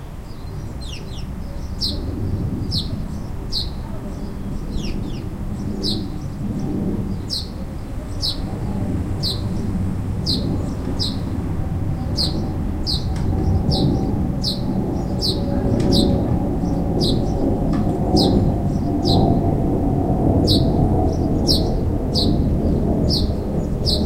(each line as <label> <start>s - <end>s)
Sparrows were out singing in nearby trees 0.0s - 19.7s
jets overhead 0.0s - 24.0s
Sparrows were out singing in nearby trees 20.4s - 24.0s